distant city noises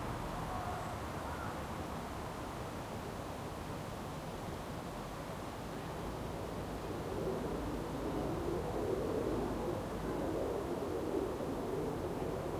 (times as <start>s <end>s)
0.0s 3.3s